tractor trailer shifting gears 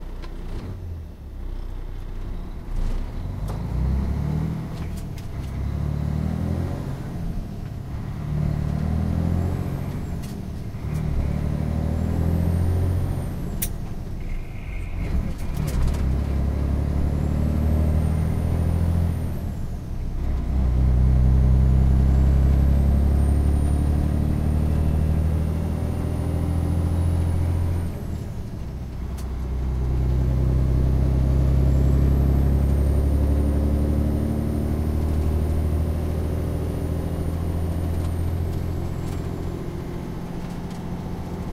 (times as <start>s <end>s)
13.5s 19.0s